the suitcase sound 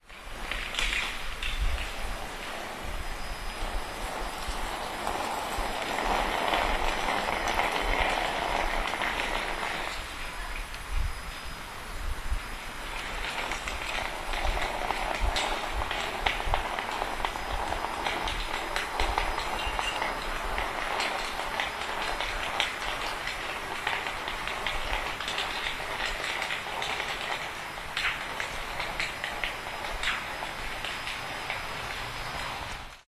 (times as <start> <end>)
0.0 10.2